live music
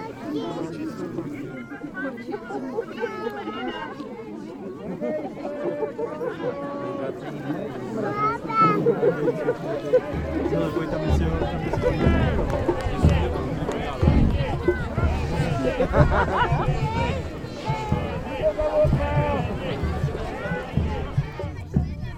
9.8 21.9

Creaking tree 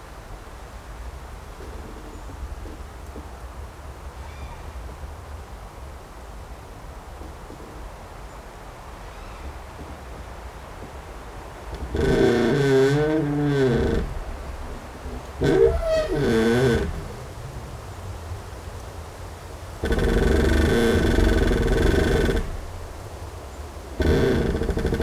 11.3 25.0

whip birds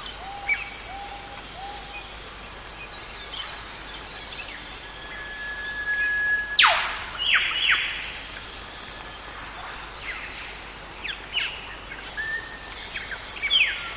6.5 7.8

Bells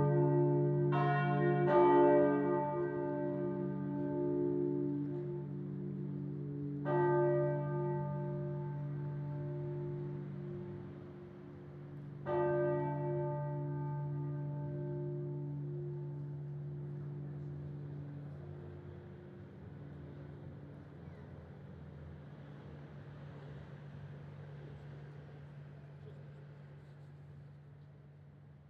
0.0 21.1

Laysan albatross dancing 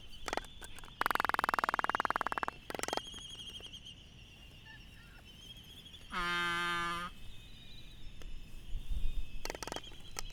0.0 3.8, 9.4 10.3

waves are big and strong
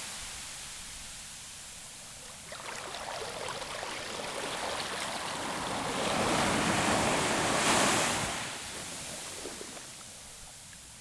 2.4 10.0

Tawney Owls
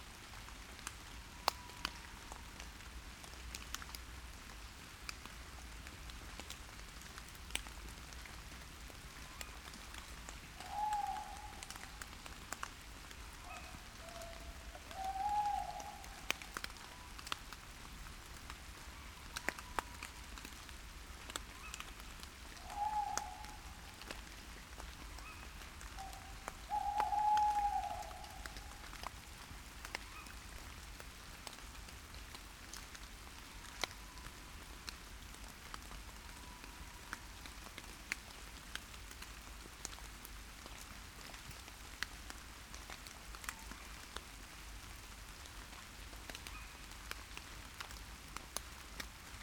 26.0 28.6

